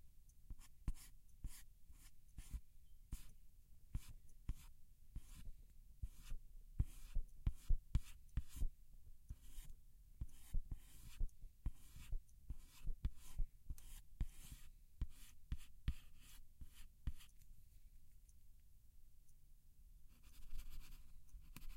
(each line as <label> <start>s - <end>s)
pen writing on paper 4.0s - 8.6s
pen writing on paper 9.3s - 17.3s